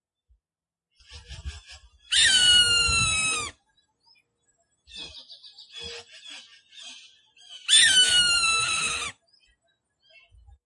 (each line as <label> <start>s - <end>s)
Hawk Screech 2.1s - 3.6s
Hawk Screech 7.7s - 9.2s